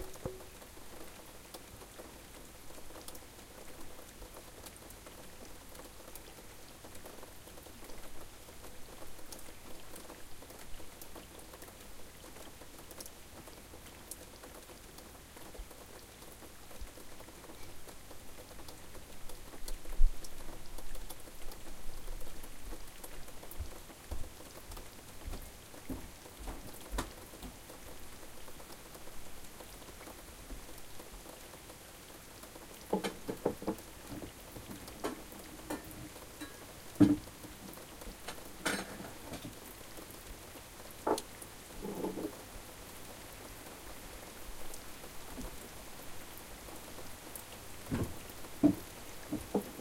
0.0s rain 49.8s

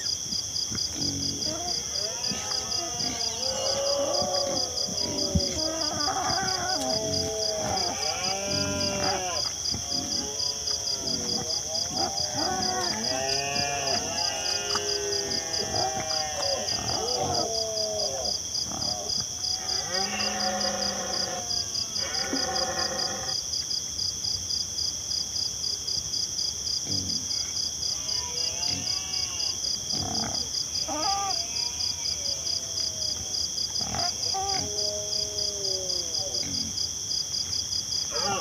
0.0s Wild pigs rooting around and squealing 23.4s
0.0s crickets sing 38.4s
1.0s male Red-deers roar 23.4s
26.8s Wild pigs rooting around and squealing 38.4s
38.1s male Red-deers roar 38.4s

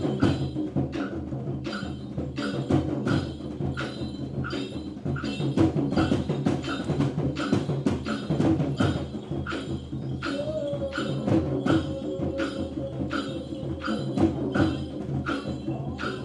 0.0s drums 16.2s
0.0s voices 16.2s

